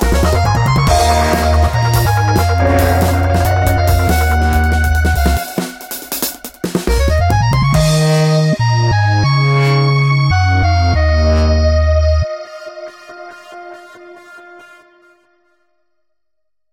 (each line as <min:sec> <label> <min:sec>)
0:00.0 Drums 0:09.2
0:00.0 bassline 0:12.3
0:00.0 synth 0:08.8